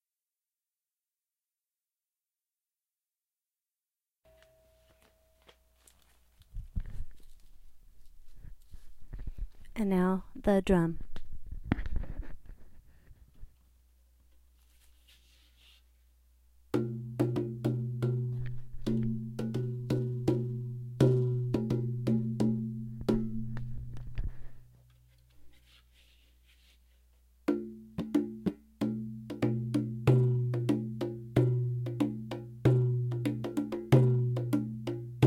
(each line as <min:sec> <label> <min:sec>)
0:28.9 tabla 0:35.2